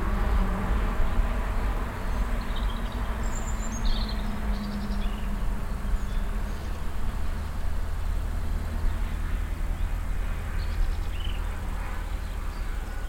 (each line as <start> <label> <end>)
0.0 constant traffic 13.0
0.0 motorbikes in the distant 13.0